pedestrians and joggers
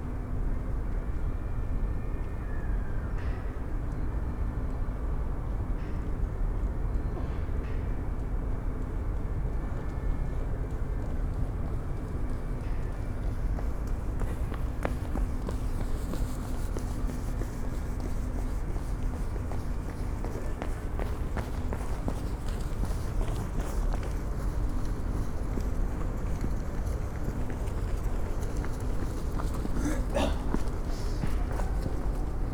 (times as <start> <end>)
8.1 32.5